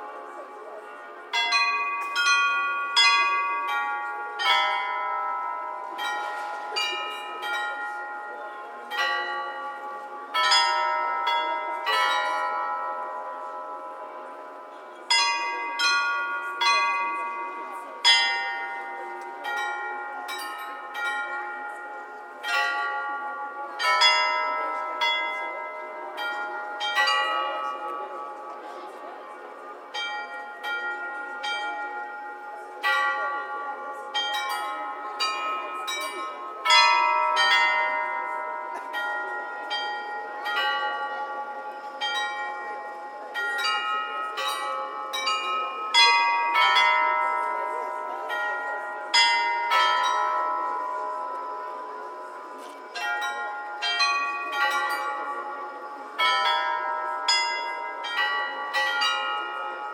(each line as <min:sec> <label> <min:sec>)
0:01.3 Astronomical Clock 0:59.9